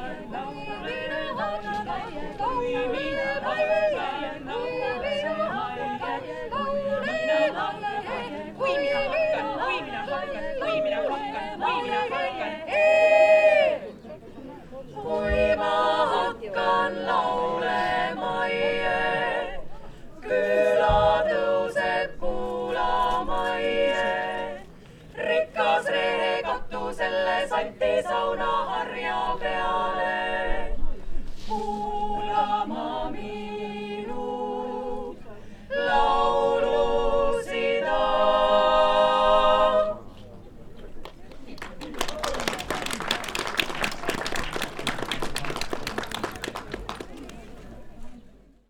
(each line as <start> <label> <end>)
0.0 women choir singing 40.4